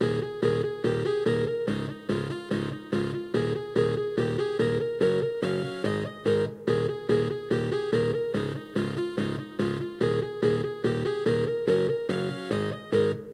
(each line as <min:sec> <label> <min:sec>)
0:00.0 music loop in the settings of a keyboard 0:13.3